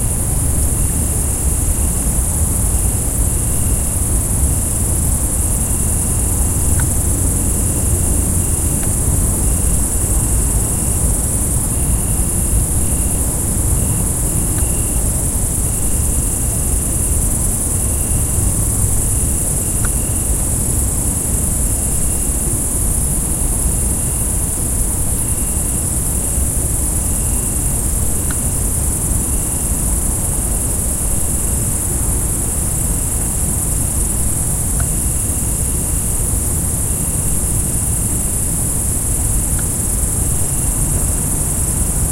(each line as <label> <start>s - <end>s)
cricket 0.0s - 42.1s